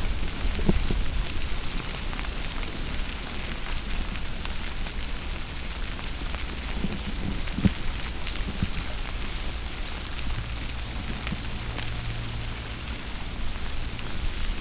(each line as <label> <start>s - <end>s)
intense rustle of a very active anthill 0.0s - 14.6s
ants climbing the windscreen 6.4s - 9.4s